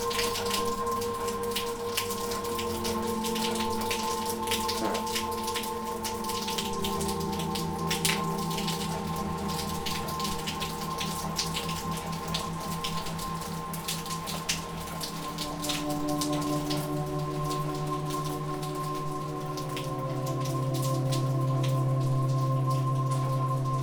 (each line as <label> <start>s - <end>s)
Elevator Music performing 0.0s - 14.9s
rain 0.0s - 23.8s